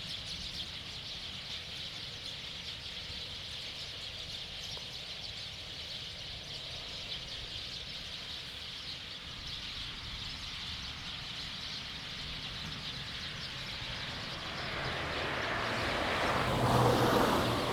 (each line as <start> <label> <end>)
0.0 Birdsong 17.7
11.8 Traffic Sound 17.7